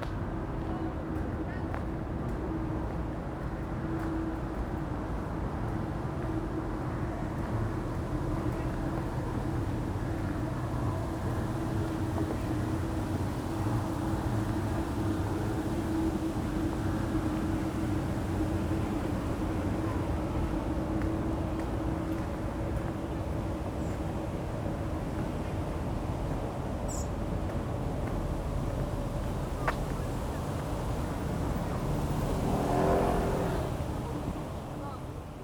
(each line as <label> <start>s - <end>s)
Traffic gets louder 29.0s - 35.4s